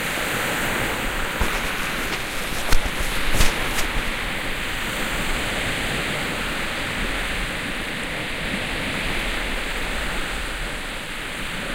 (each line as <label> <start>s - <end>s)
Seaside Waves 0.0s - 11.7s